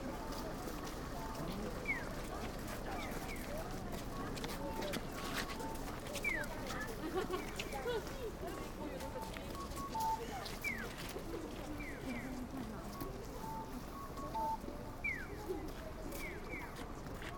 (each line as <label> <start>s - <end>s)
Pedestrian warning sounds when crossing the road 0.0s - 17.3s